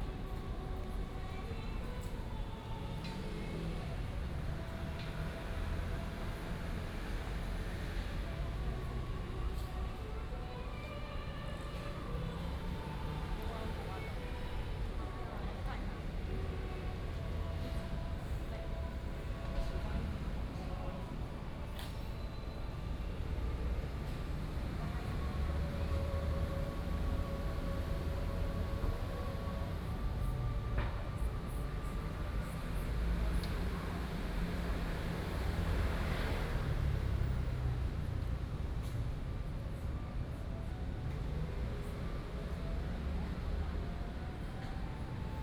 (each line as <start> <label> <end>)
0.0 Traffic noise 45.4